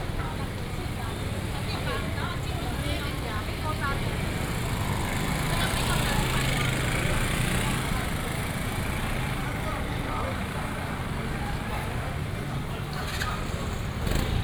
Walking in the traditional market 0.0 - 14.4
vendors peddling 0.0 - 14.4
motorcycles 0.0 - 14.4

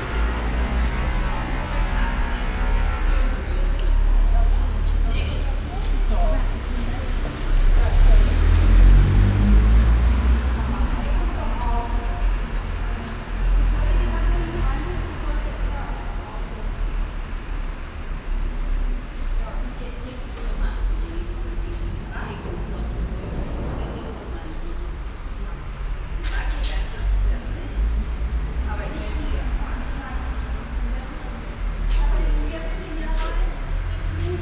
cars 0.0 - 34.4
people 0.0 - 34.4

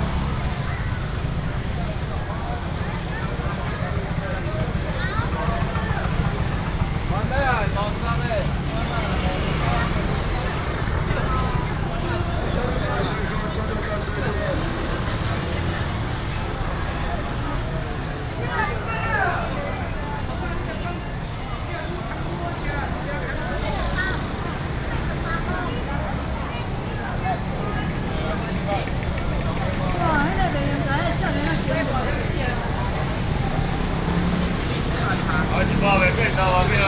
Traffic Sound 0.0 - 36.8
Walking through the traditional market 0.0 - 36.8

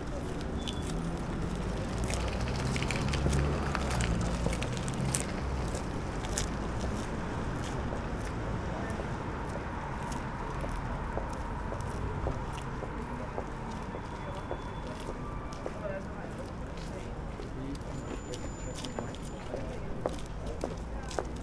Cyclists 0.0 - 6.2
pedestrians 0.0 - 21.4
cars passing in front of recorder 0.0 - 20.4
voice of a guide from tourist boat 12.1 - 21.4

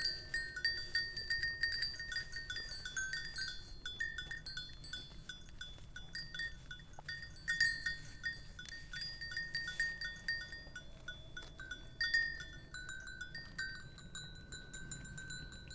ringing bells from afar 0.0 - 5.1
herd of curious goats is approaching 0.0 - 15.7
ringing bells from afar 11.6 - 15.7

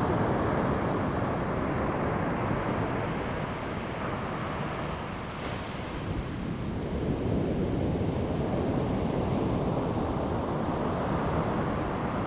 waves 3.5 - 6.7

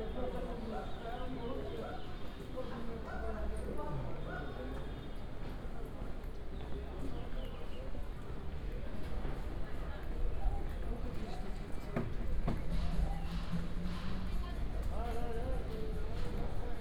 Sounds comming from different shops, cafes, businesses 0.0 - 16.8
walking around the backstreets 9.0 - 16.8

